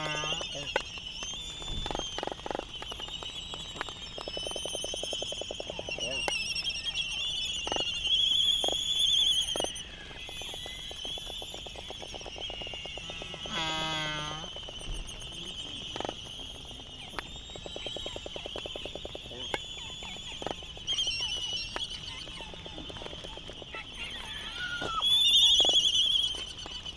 voices 0:00.0 - 0:02.6
Laysan albatross dancing 0:00.0 - 0:26.9
voices 0:04.7 - 0:26.9

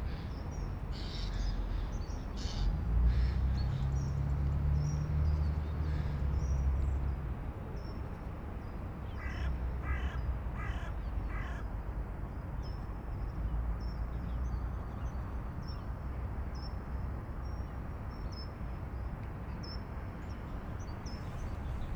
Distant trucks 0:19.1 - 0:21.9

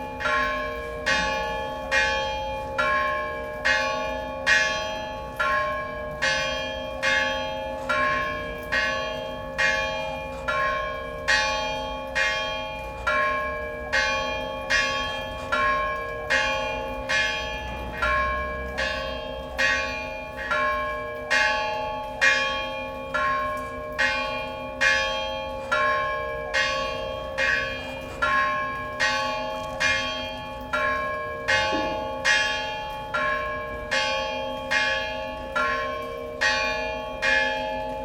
bells are ringing 0:00.0 - 0:38.0

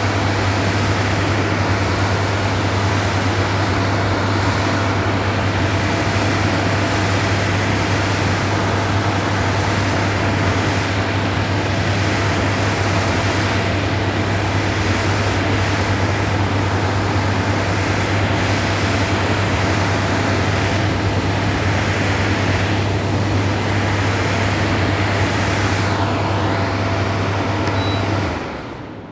stand-alone AC unit 0:00.0 - 0:29.1

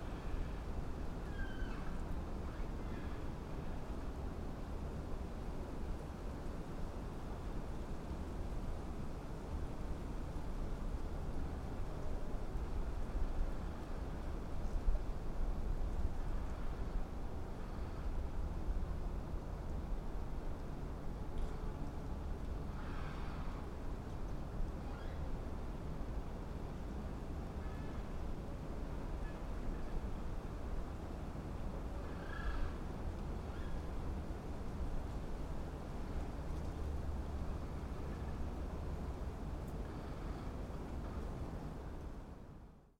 winds 0:00.0 - 0:42.9

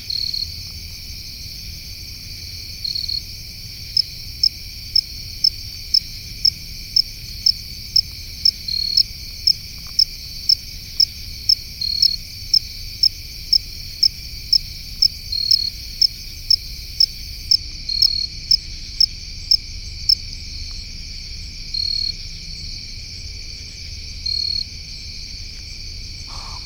Crickets 0:00.0 - 0:26.6
Deer hisses 0:26.3 - 0:26.6
pine barrens tree frog can be faintly heard honking 0:26.3 - 0:26.6

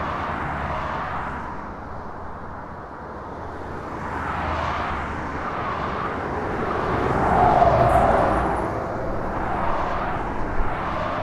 traffic noise 0:00.0 - 0:11.2

